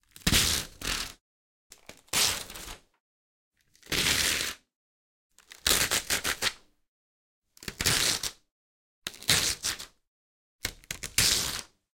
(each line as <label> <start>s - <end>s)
Paper from spiral notebook rip, tear 0.1s - 1.2s
Paper from spiral notebook rip, tear 2.0s - 2.8s
Paper from spiral notebook rip, tear 3.8s - 4.7s
Paper from spiral notebook rip, tear 5.5s - 6.6s
Paper from spiral notebook rip, tear 7.7s - 8.4s
Paper from spiral notebook rip, tear 10.9s - 11.8s